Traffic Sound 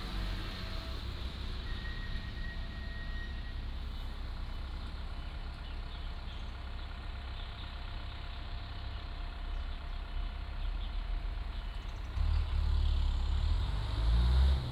0.0s 8.7s

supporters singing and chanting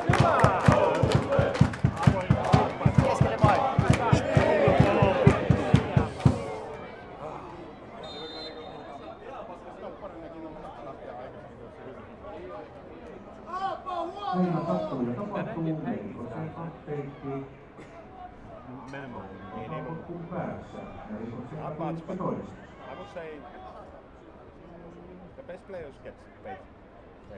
0.0s 7.6s

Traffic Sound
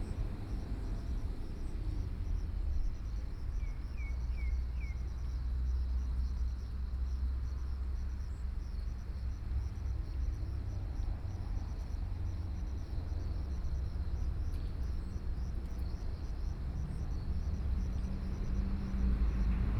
11.4s 19.7s

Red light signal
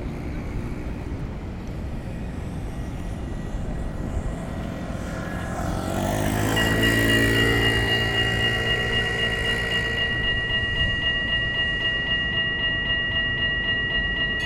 6.0s 14.4s

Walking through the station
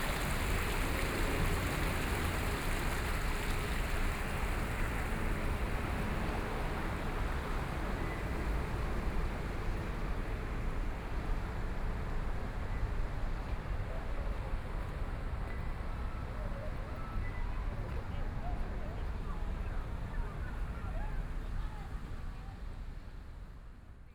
10.1s 22.4s

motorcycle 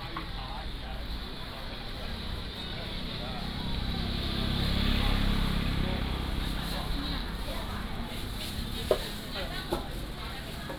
3.3s 7.4s

